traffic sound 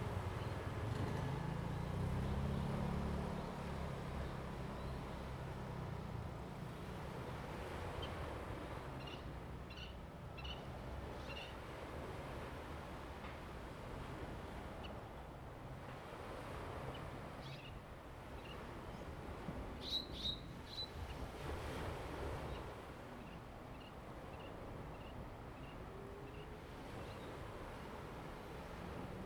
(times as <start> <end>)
0.0 6.6